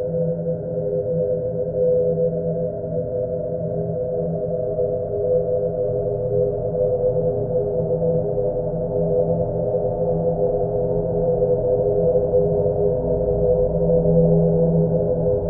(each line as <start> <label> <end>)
0.0 slowly evolving ambient drone pad 15.4